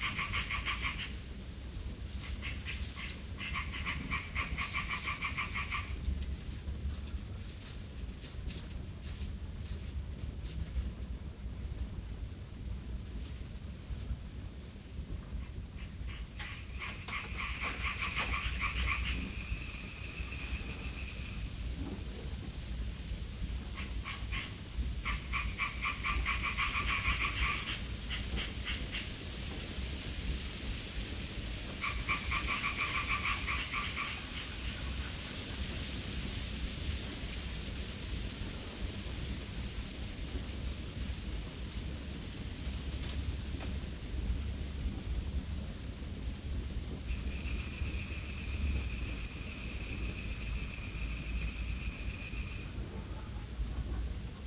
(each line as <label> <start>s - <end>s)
frog 0.0s - 1.2s
fire 0.0s - 54.4s
little white noise 0.0s - 54.4s
soft night wind 0.0s - 54.4s
birds 2.2s - 6.0s
frog 2.2s - 6.0s
frog 15.4s - 21.5s
birds 15.4s - 21.5s
frog 23.7s - 29.1s
birds 31.8s - 35.0s
frog 31.8s - 35.1s
frog 47.0s - 53.3s